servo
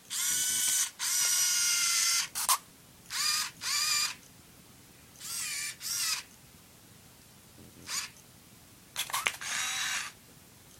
0.1 4.3, 5.2 6.4, 9.0 10.2

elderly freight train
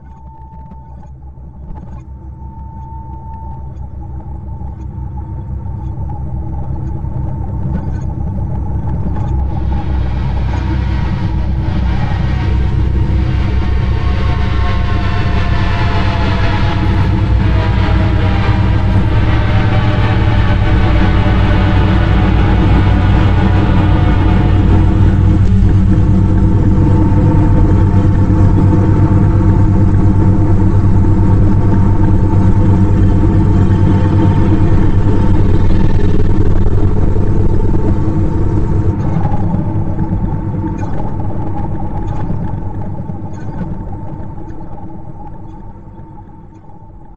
9.4 42.0

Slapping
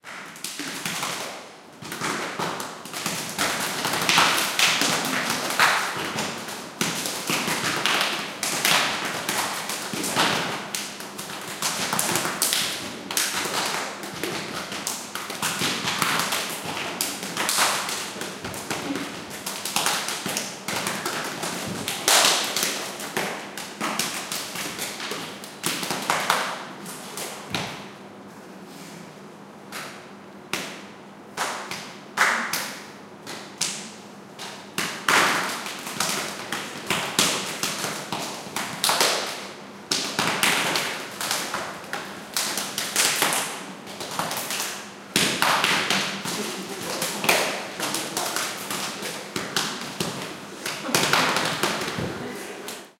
33.6 52.9

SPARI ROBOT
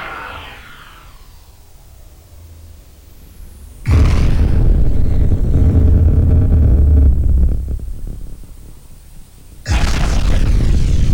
0.0 2.4

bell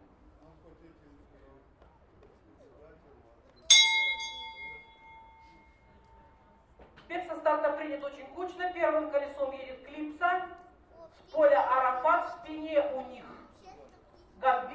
3.7 6.3

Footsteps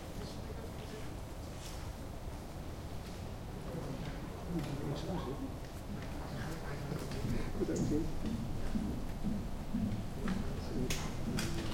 7.0 11.7

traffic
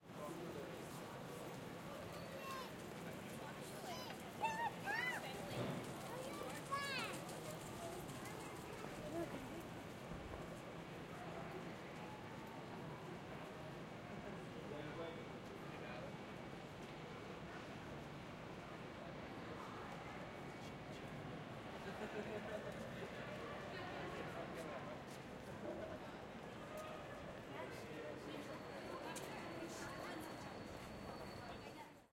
0.1 14.7

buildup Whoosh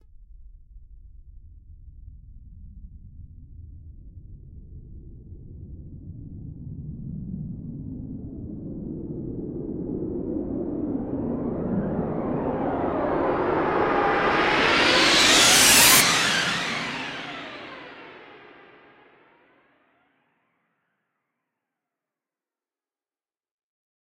10.0 19.0

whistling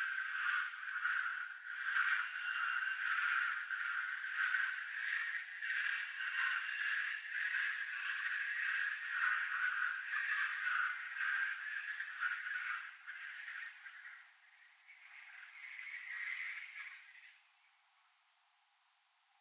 0.0 14.3

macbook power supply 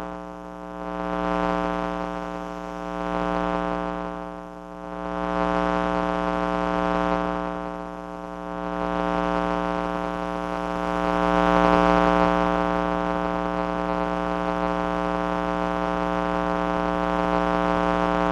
0.0 7.9

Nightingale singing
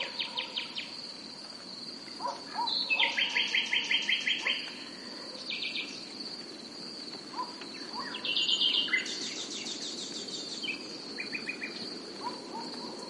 2.5 4.9, 5.5 6.1, 7.4 12.9

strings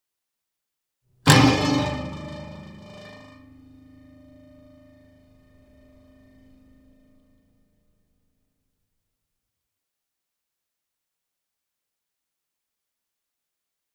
1.3 7.4

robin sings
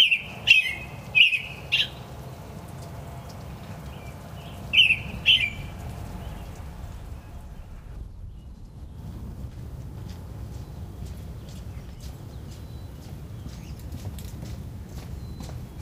0.0 7.5, 10.5 14.0, 14.9 15.8

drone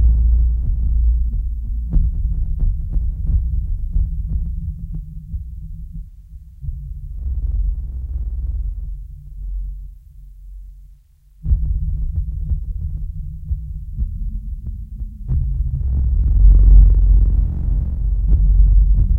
0.0 2.5, 15.3 19.1

